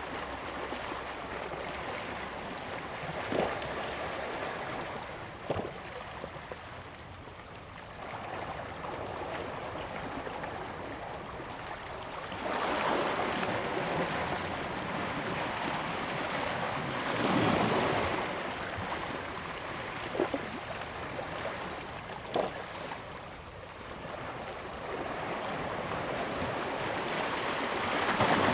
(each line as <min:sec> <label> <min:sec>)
0:00.0 waves 0:28.5